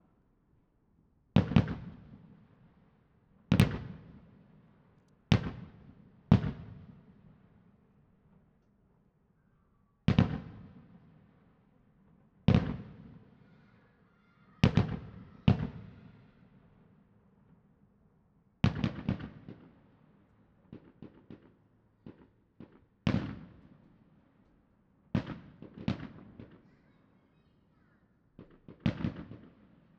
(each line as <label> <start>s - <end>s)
fireworks 1.4s - 2.6s
fireworks 3.5s - 4.6s
fireworks 5.3s - 7.1s
fireworks 10.1s - 11.3s
fireworks 12.5s - 13.8s
fireworks 14.5s - 16.9s
fireworks 18.6s - 20.0s
fireworks 20.6s - 23.9s
fireworks 25.2s - 29.9s